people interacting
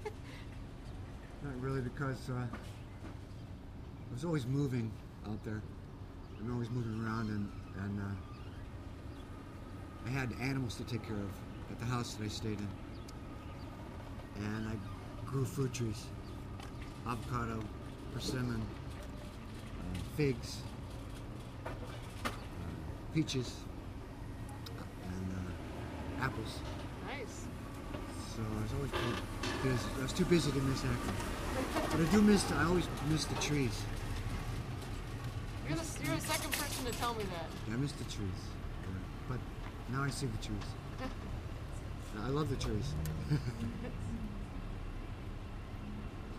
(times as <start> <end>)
35.6 39.4